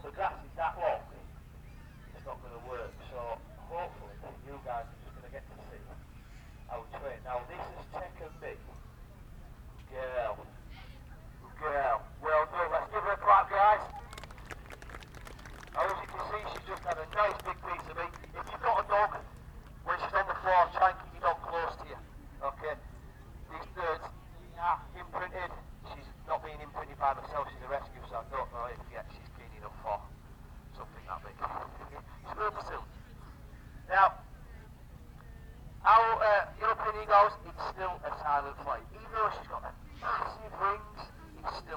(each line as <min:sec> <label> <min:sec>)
0:11.4 falconer with radio mic through the PA system 0:22.9
0:30.7 falconer with radio mic through the PA system 0:33.0
0:35.8 falconer with radio mic through the PA system 0:41.7